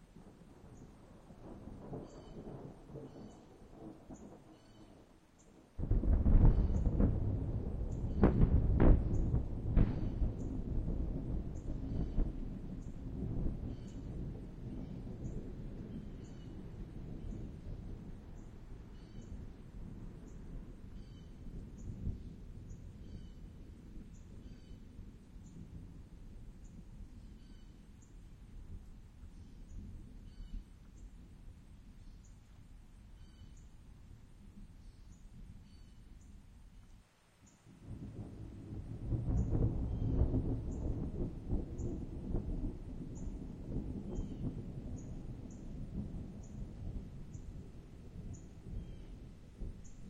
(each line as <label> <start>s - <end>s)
rain 0.0s - 50.0s
thunder 0.2s - 4.8s
Birds 4.2s - 5.5s
thunder 5.8s - 27.7s
thunder 37.8s - 50.0s